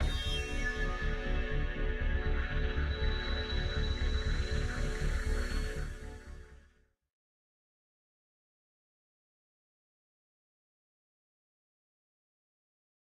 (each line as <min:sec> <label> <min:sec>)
0:00.0 synth 0:06.3